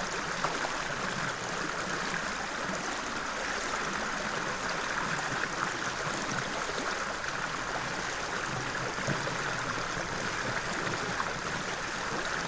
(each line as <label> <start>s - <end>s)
river 0.0s - 12.4s